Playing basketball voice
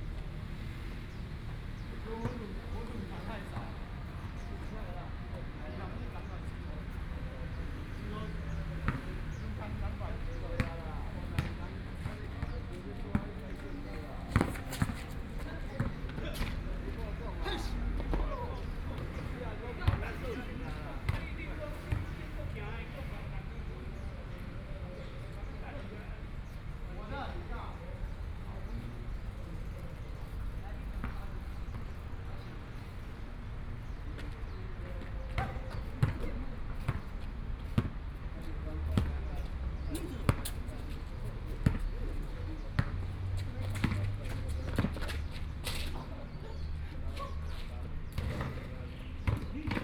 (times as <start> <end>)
10.5 13.7, 35.3 38.0, 41.6 46.2, 47.5 49.8